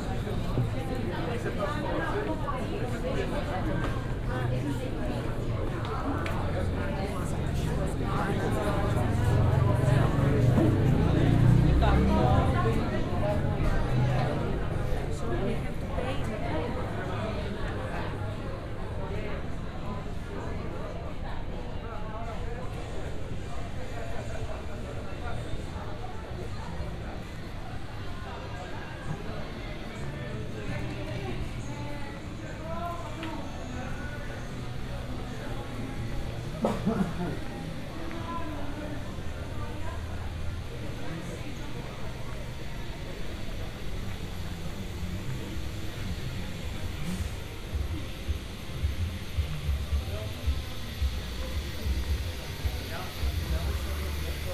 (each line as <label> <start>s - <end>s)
buzzing with conversations 0.0s - 54.5s
walking around narrow streets 0.0s - 54.5s